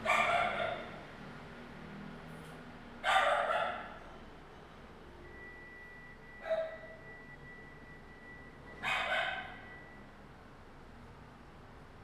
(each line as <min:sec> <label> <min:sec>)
0:00.0 Dog barking 0:01.0
0:03.0 Dog barking 0:04.0
0:06.4 Dog barking 0:06.9
0:08.8 Dog barking 0:09.6